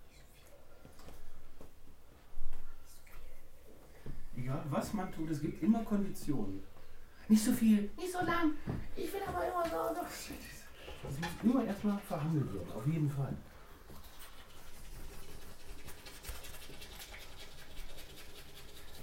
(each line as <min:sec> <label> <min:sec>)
0:11.5 tooth brushes 0:13.2
0:13.8 tooth brushes 0:19.0